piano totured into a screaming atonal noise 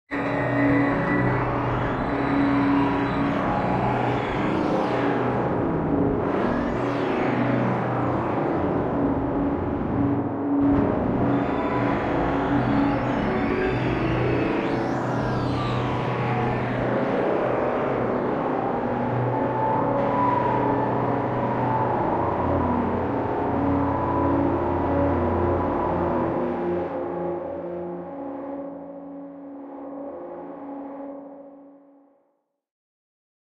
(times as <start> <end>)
0.1 5.0